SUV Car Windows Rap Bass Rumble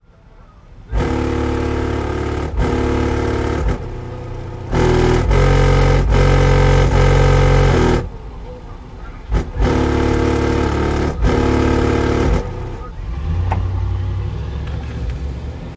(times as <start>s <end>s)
9.3s 12.9s